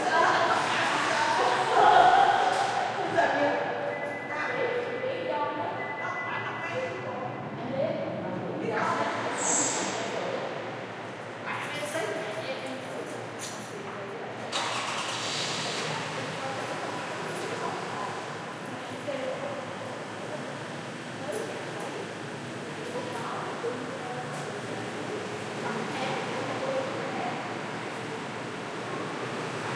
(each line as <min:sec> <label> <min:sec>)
0:00.0 cars 0:05.0
0:00.0 conversations 0:29.7
0:14.4 cars 0:29.7